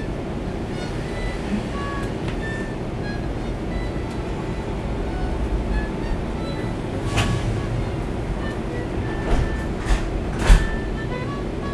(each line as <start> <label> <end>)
0.0 inside the Trains 11.7